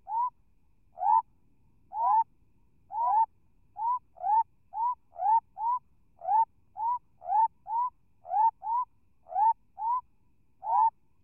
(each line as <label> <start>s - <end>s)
Frogs calling from burrows 0.0s - 0.4s
Frogs calling from burrows 1.0s - 1.3s
Frogs calling from burrows 1.9s - 2.3s
Frogs calling from burrows 2.9s - 10.0s
Frogs calling from burrows 10.6s - 11.0s